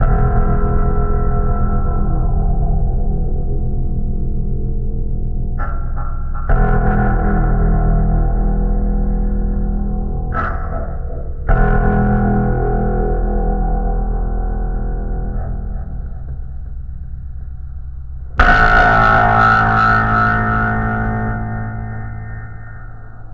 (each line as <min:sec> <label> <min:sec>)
0:18.4 Tuning a Roland Oetter acoustic guitar 0:23.3